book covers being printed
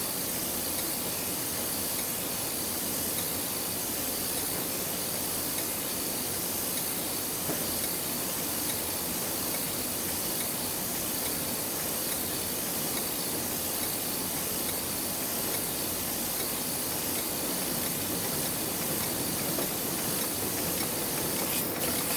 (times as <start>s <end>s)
18.7s 22.1s